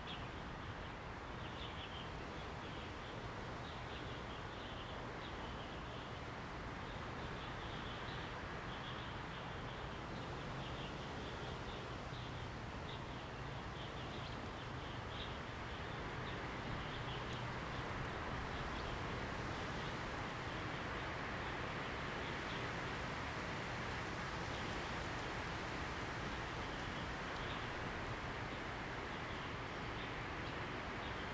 0.0s Wind 31.3s

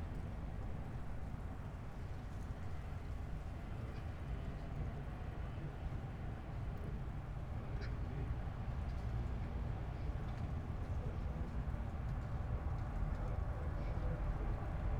7.6s street ambience 14.9s

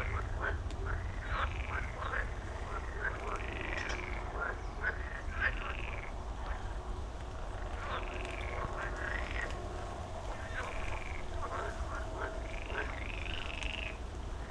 0.0s a bit of rain 14.5s
0.0s frog concert 14.5s
0.0s wind 14.5s

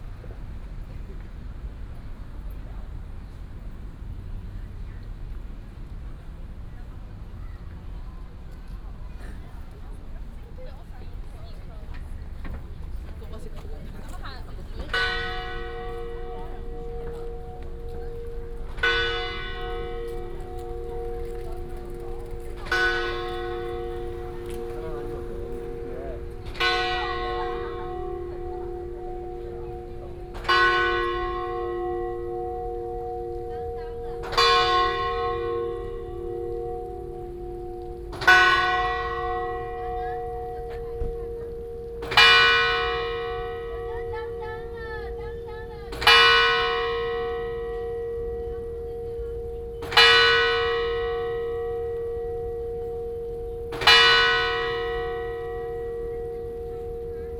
12.9s Bell 57.3s

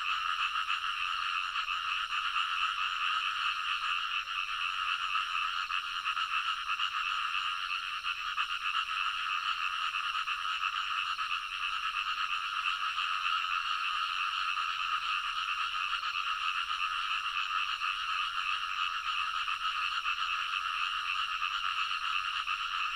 0.0s Frogs sound 22.9s
0.0s Insects sounds 22.9s

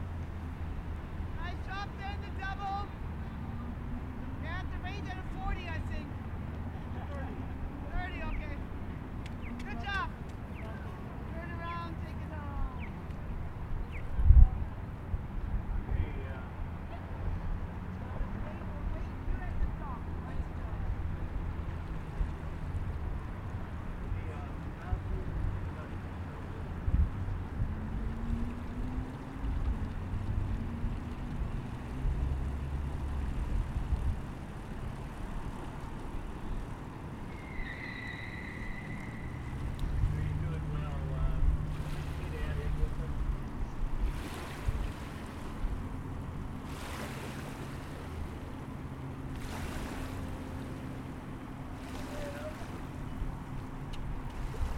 0.0s rowing crew practicing on the water 54.7s

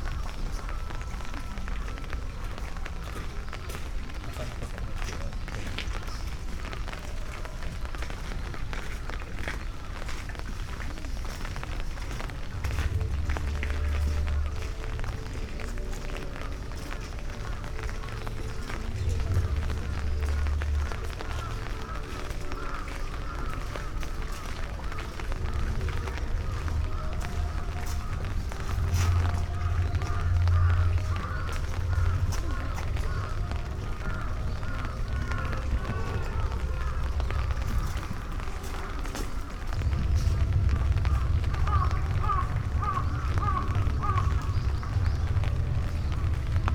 0.0s light rain 46.7s
0.0s pond 46.7s

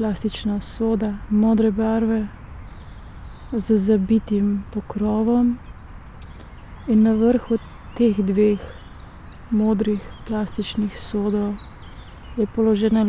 0.0s spoken words 2.3s
3.6s spoken words 5.6s
6.8s spoken words 8.8s
9.5s spoken words 11.6s
12.4s spoken words 13.0s

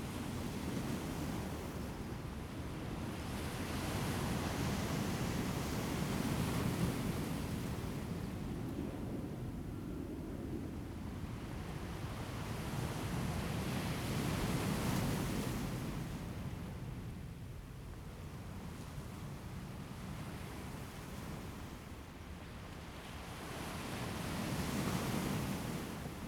22.5s waves 26.2s

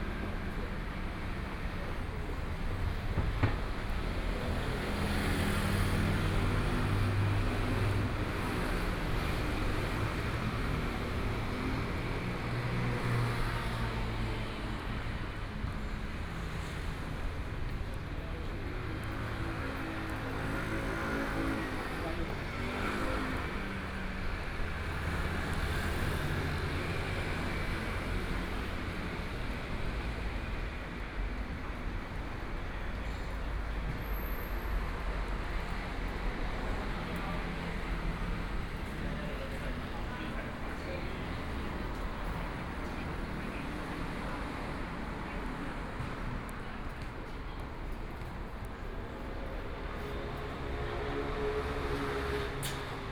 0.0s walking on the Road 53.1s

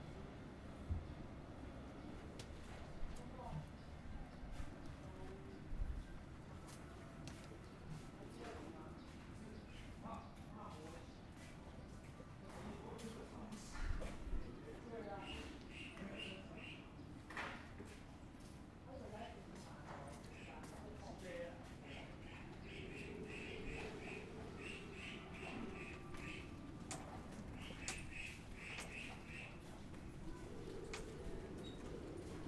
0.0s wind 32.4s

